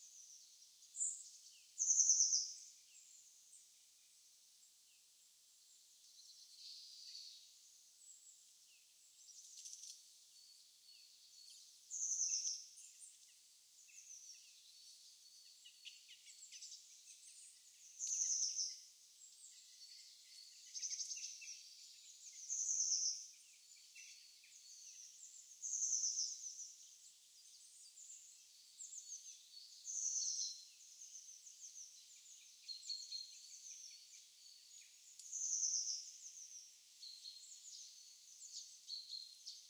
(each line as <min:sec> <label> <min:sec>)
0:00.0 Birds 0:39.6